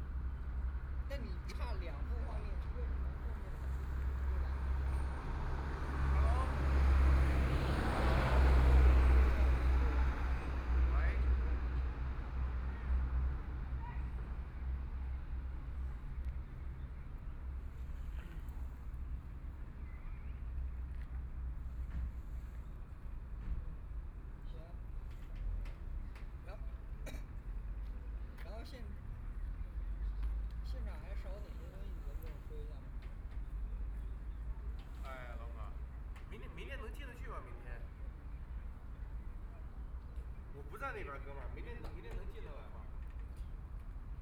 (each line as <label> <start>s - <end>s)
boat traveling 2.0s - 22.7s